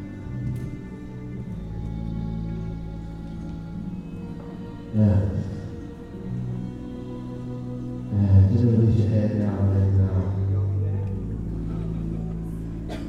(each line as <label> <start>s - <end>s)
yoga class 0.0s - 13.0s